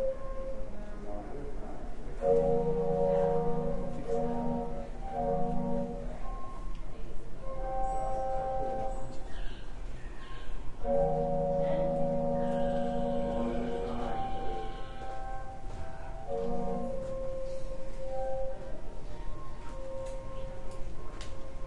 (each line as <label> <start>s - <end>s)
murmuring voices 0.7s - 21.6s
distant train whistle 2.2s - 6.5s
distant train whistle 7.6s - 9.2s
distant train whistle 10.8s - 18.6s